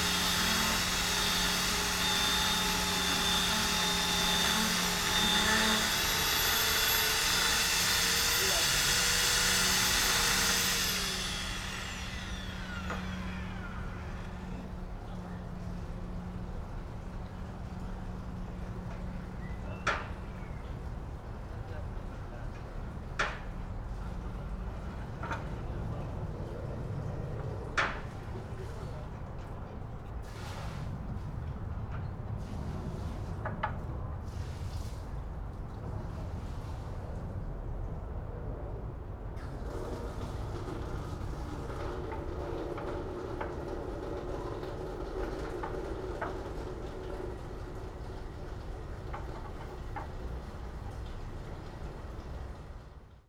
nearby bridge 0:00.0 - 0:40.0
workers on the roof of a house 0:00.0 - 0:53.2

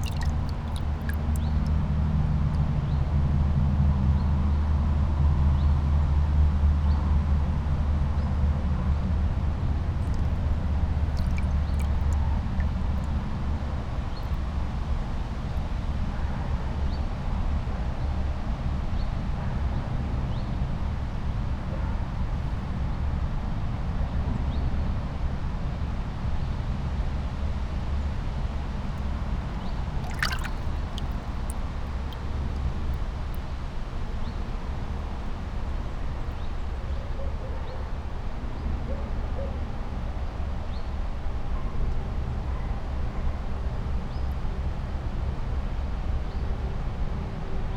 kingfisher 0:00.0 - 0:01.9
kingfisher 0:10.0 - 0:13.2
kingfisher 0:30.0 - 0:32.7

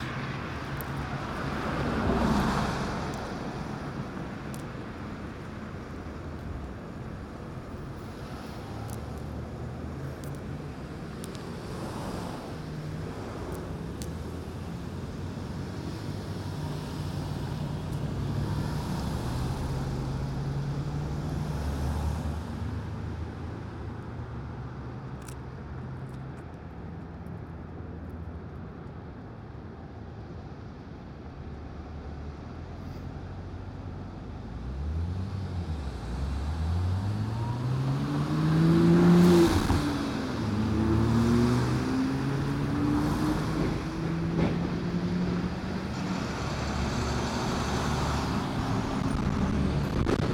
heavy traffic 0:00.0 - 0:50.3

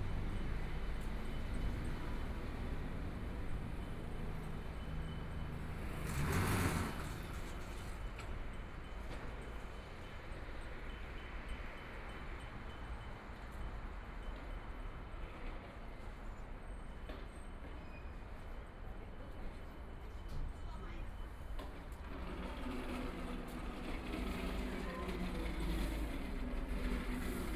Traffic Sound 0:00.0 - 0:09.2
Bells 0:00.0 - 0:06.8
Traffic Sound 0:21.0 - 0:27.5

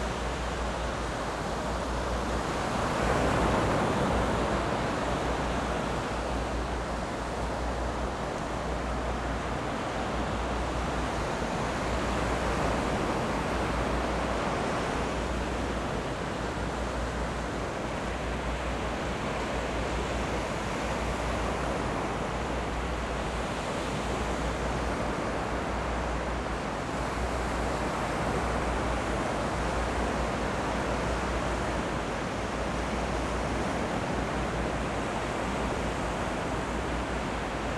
waves 0:00.0 - 0:37.7

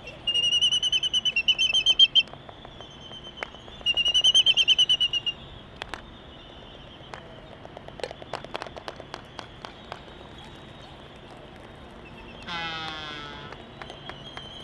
Laysan albatross dancing 0:00.1 - 0:14.6

